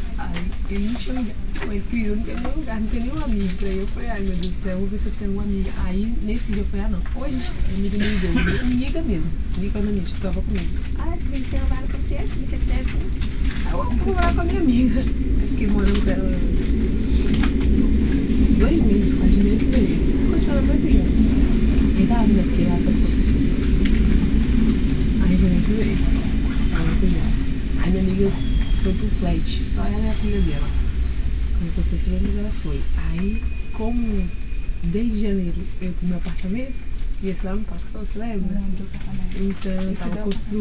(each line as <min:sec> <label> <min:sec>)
0:00.0 train conversation 0:40.6